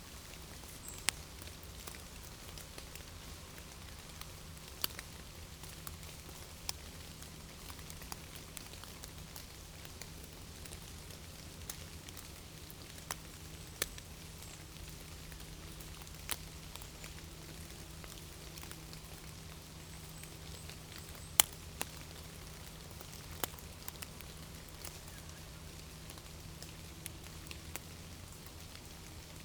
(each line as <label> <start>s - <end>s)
rain is falling slowly 0.0s - 29.4s